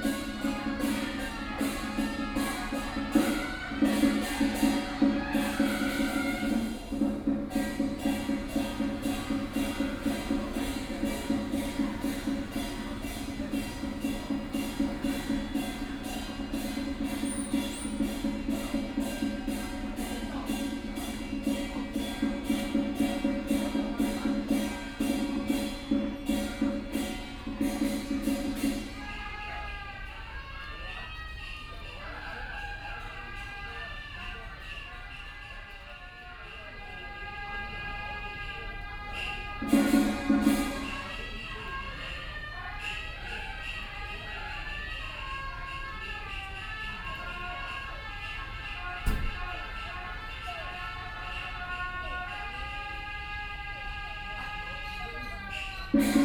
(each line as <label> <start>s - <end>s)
Puja 0.0s - 56.2s